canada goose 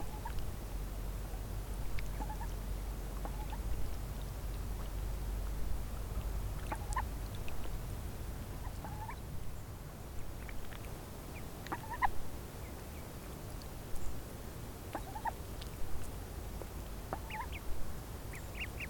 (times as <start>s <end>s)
0.0s 0.4s, 2.0s 2.6s, 3.2s 3.7s, 6.6s 7.1s, 8.6s 9.2s, 11.6s 12.2s, 14.9s 15.4s, 17.1s 17.7s